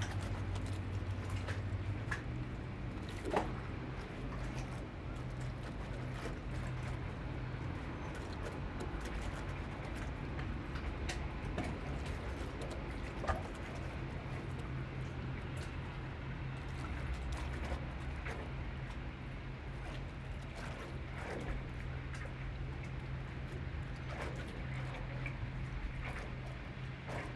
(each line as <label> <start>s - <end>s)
Water slopping against the pier 0.0s - 27.3s